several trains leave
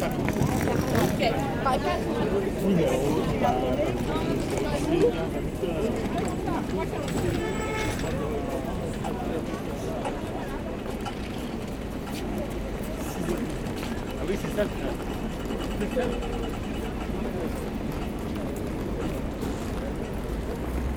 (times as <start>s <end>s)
3.0s 14.0s